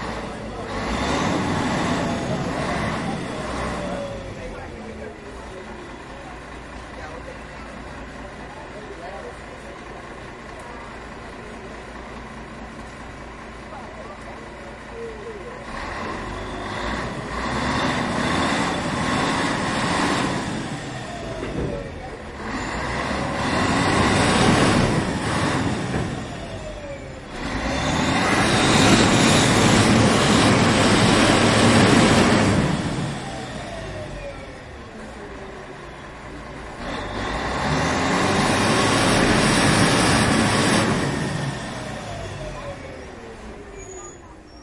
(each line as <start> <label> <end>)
0.0 Motor of a Ship 44.0